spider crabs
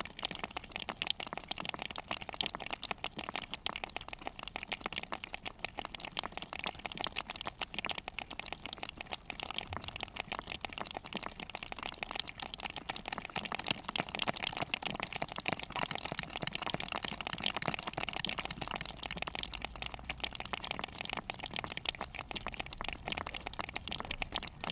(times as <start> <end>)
12.7 24.7